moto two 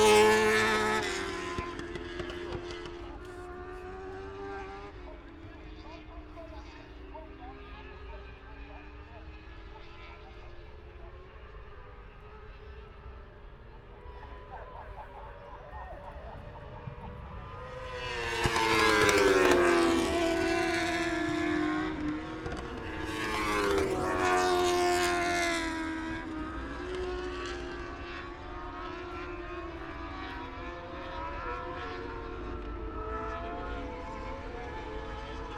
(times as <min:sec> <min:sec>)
0:13.9 0:35.5